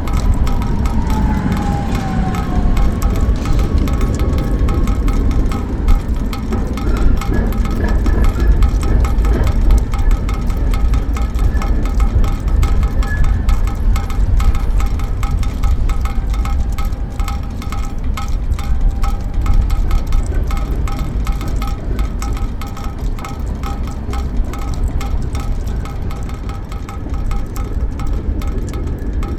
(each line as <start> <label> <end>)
0.0 Raindrops resonating inside the gutters 29.3